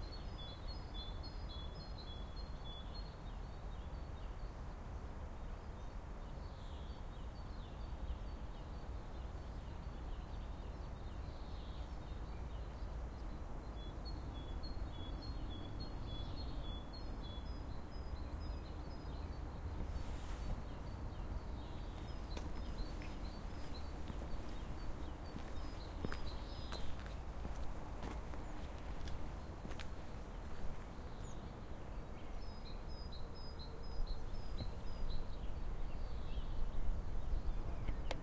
birds singing 0.0 - 4.8
birds singing 5.5 - 38.2
distant traffic 9.3 - 38.2

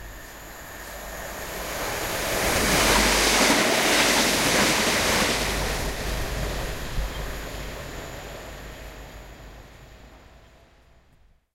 fast train going through a station 0.0 - 11.1

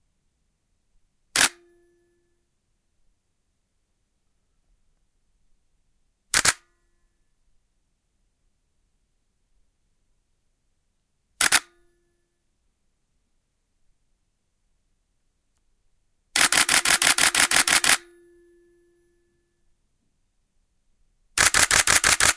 Nikon shutter 1.4 - 1.6
Nikon shutter 6.3 - 6.7
Nikon shutter 11.4 - 11.8
Nikon shutter 16.4 - 18.1
Nikon shutter 21.4 - 22.3

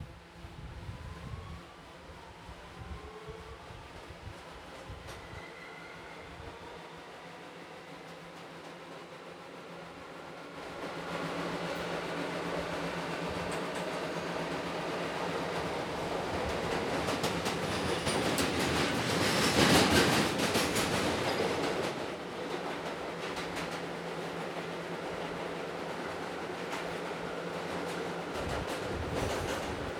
trains moving 1.4 - 29.9
Openning doors between trains 11.2 - 29.9

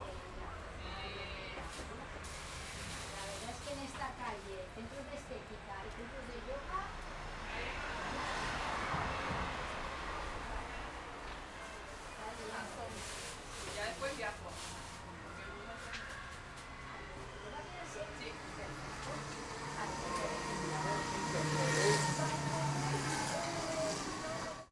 People talking 0.0 - 6.9
traffic including busses driving by 0.0 - 24.7
People talking 11.6 - 16.2
People talking 16.8 - 24.7

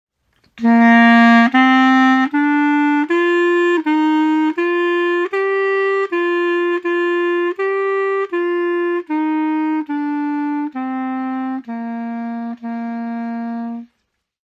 short clarinet solo 0.6 - 13.9

